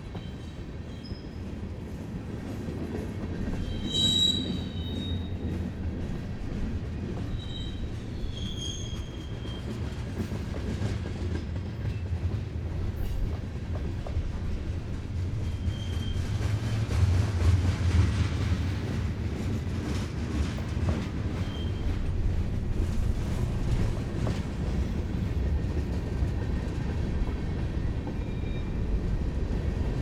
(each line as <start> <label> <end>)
0.0 Freight Train Eastbound 30.0